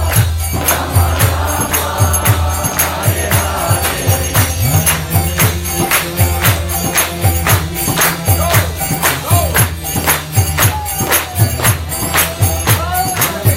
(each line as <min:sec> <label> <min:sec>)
0:00.0 instruments 0:13.5
0:00.0 kirtan song 0:13.5